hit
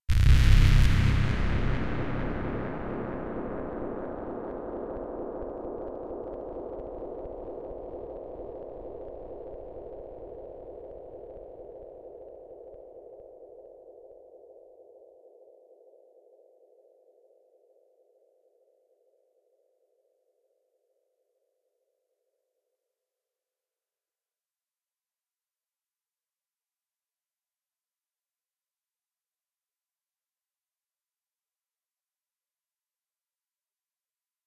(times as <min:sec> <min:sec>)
0:00.1 0:04.4